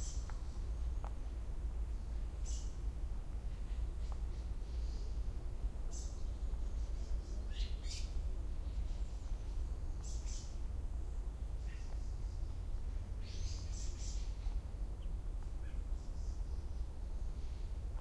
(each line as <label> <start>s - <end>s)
birds 0.0s - 18.0s